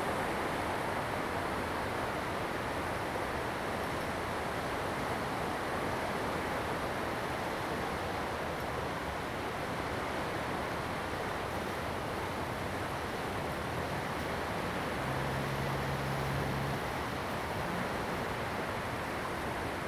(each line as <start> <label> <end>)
6.5 waves 19.8